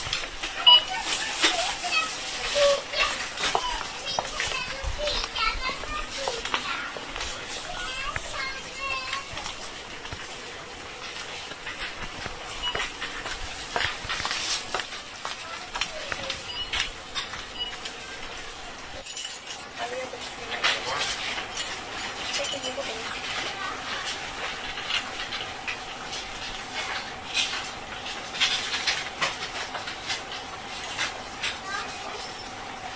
people 0.5 - 9.6

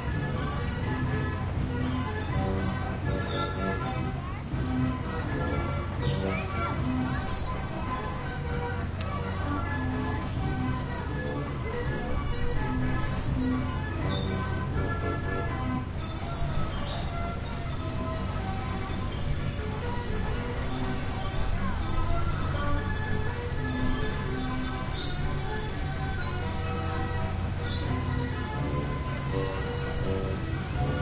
carousel 0.0 - 31.0

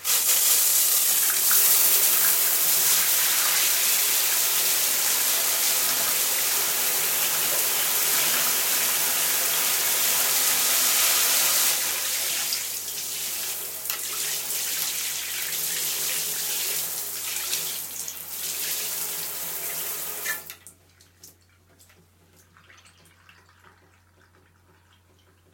Shower 0.0 - 25.5

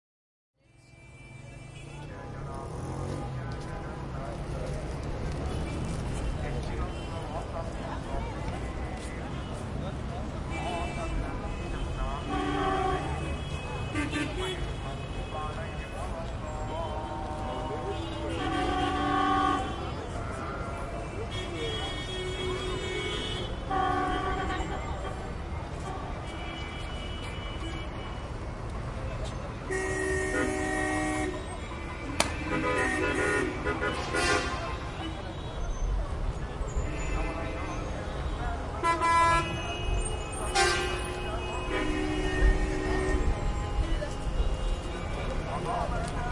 Pedestrians 0.6 - 46.3
Traffic at a crossroad 0.6 - 46.3
Wind 0.6 - 46.3

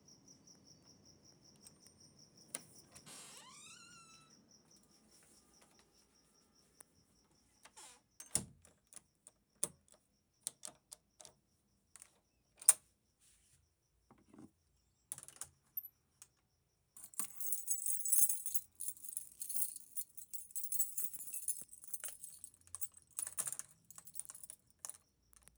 creaky door 3.0 - 4.4
keys 17.0 - 25.5

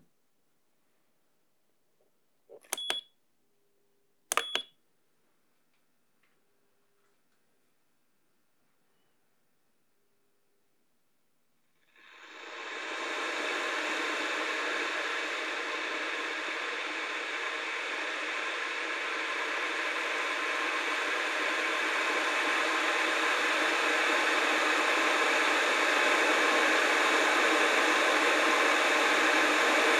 switch 2.5 - 3.0
switch 4.3 - 4.7
Boiling water in a modern electric kettle 12.1 - 29.9

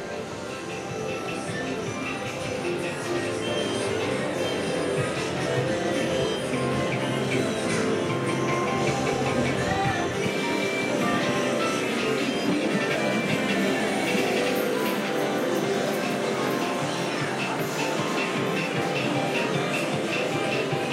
TVs 0.0 - 20.9
crowd 0.0 - 20.9

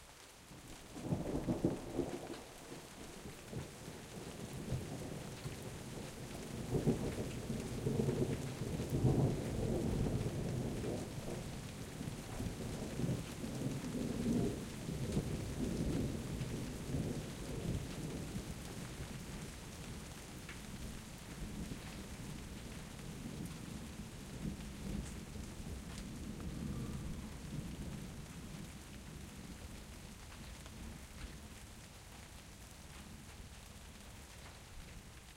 light rain 0.0 - 35.3
thunder rolling through mountains 0.8 - 31.0

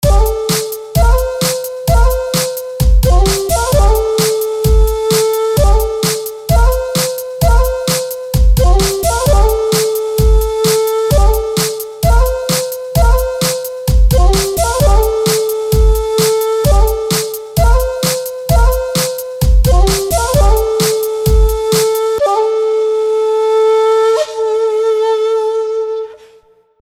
Bass 0.0 - 0.4
Kick 0.0 - 0.4
Snare 0.5 - 0.8
Snare 1.4 - 1.7
Kick 2.8 - 4.0
Bass 2.8 - 6.0
Snare 3.3 - 4.5
Snare 5.1 - 6.4
Bass 8.4 - 11.5
Snare 10.6 - 11.9
Kick 13.9 - 15.2
Bass 13.9 - 15.2
Snare 16.2 - 18.3
Bass 19.4 - 21.7
Snare 21.7 - 22.2

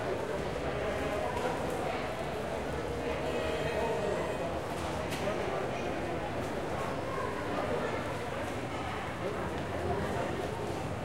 Bus 0.0 - 11.0

